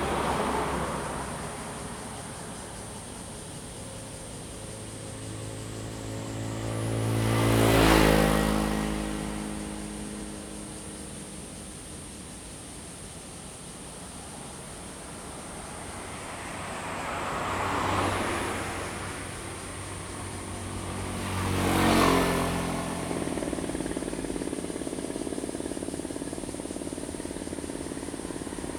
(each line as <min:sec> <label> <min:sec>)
0:00.0 Cicadas sound 0:28.7
0:00.0 Traffic Sound 0:28.7